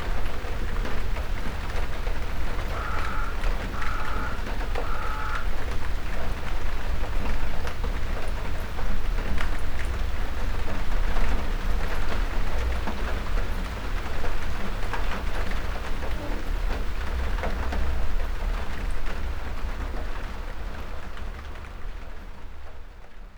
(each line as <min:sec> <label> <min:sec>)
0:00.0 shower of rain 0:23.3
0:02.7 crows 0:05.5